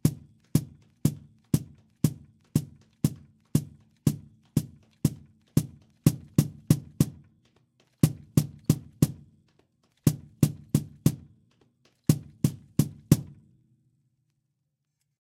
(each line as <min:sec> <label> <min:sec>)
0:00.0 Cajon Bass Percussion Drum 0:09.4
0:10.1 Cajon Bass Percussion Drum 0:11.4
0:12.1 Cajon Bass Percussion Drum 0:13.4